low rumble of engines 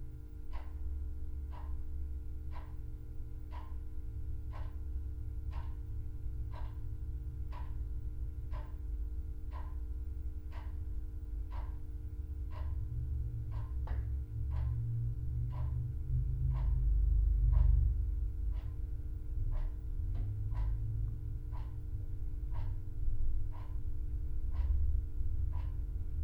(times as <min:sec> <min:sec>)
0:12.2 0:26.2